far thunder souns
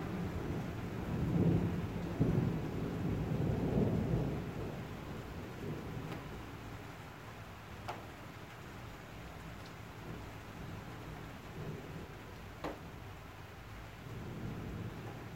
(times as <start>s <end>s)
0.0s 6.6s, 14.0s 15.3s